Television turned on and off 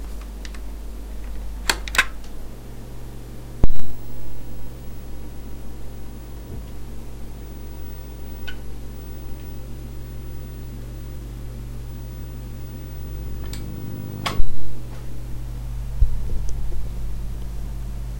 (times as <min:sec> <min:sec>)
0:03.6 0:14.8